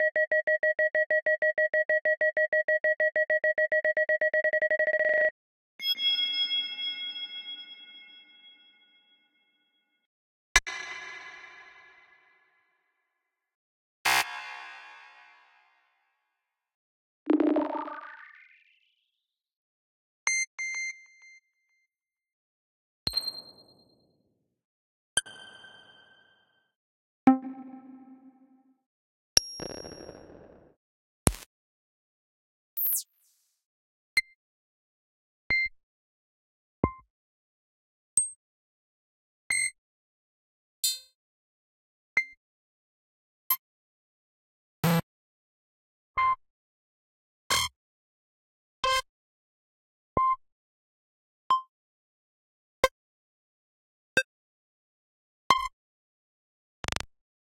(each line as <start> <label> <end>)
27.3 Digital UI Buttons 28.4
27.3 beep 28.4